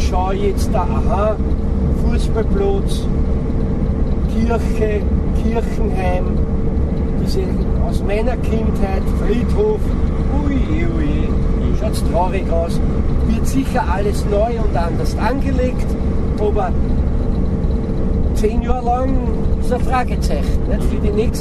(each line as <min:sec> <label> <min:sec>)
0:04.3 talking about the gradual decay 0:06.4
0:07.2 talking about the gradual decay 0:16.9